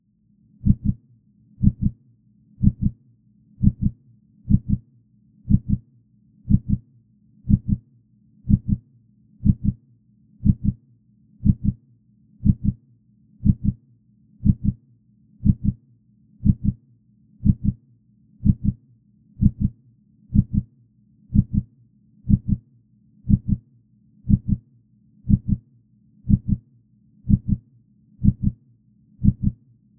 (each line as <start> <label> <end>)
0.6 Processed Heartbeat 1.0
1.6 Processed Heartbeat 2.0
2.6 Processed Heartbeat 3.0
3.6 Processed Heartbeat 4.9
5.5 Processed Heartbeat 5.9
6.5 Processed Heartbeat 6.9
7.5 Processed Heartbeat 8.8
9.4 Processed Heartbeat 9.8
10.4 Processed Heartbeat 10.8
11.4 Processed Heartbeat 11.8
12.4 Processed Heartbeat 12.8
13.4 Processed Heartbeat 13.8
14.4 Processed Heartbeat 14.8
15.4 Processed Heartbeat 15.8
16.4 Processed Heartbeat 16.8
17.4 Processed Heartbeat 17.8
18.4 Processed Heartbeat 18.8
19.4 Processed Heartbeat 20.7
21.3 Processed Heartbeat 21.7
22.3 Processed Heartbeat 22.7
23.3 Processed Heartbeat 23.7
24.3 Processed Heartbeat 24.7
25.3 Processed Heartbeat 25.7
26.3 Processed Heartbeat 28.6
29.2 Processed Heartbeat 29.6